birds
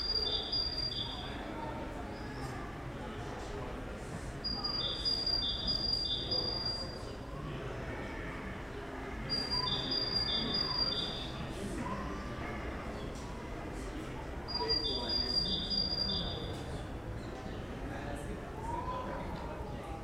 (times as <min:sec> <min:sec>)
0:00.0 0:01.4, 0:04.5 0:07.0, 0:08.6 0:11.5, 0:14.5 0:16.6